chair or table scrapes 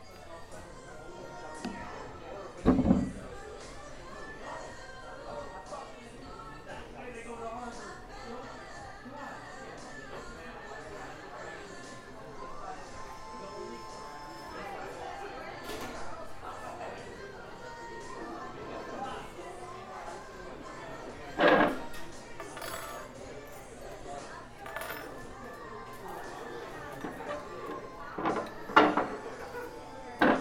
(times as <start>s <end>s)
21.4s 21.9s